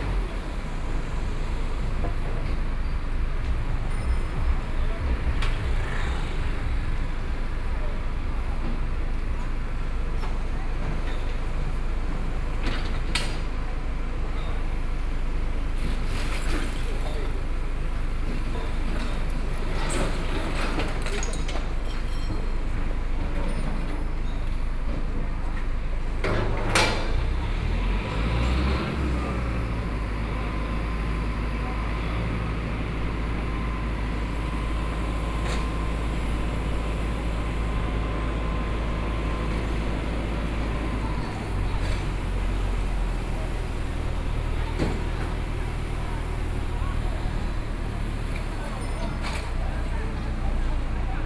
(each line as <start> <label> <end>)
0.0 Construction noise 51.2
0.0 Demolition waste transporting bricks 51.2
0.0 crowd on the road 51.2
0.0 vehicle 51.2